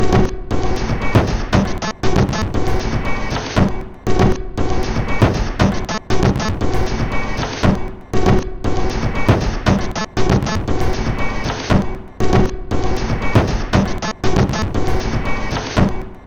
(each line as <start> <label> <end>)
0.0 Drum Loop 16.2